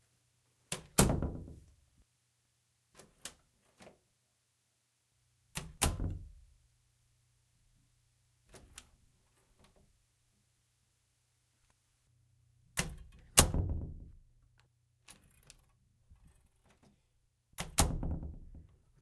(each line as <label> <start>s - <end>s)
Opening closing bedroom1 door 5.6s - 6.3s
Opening closing bedroom1 door 12.8s - 14.2s
Opening closing bedroom1 door 17.6s - 18.8s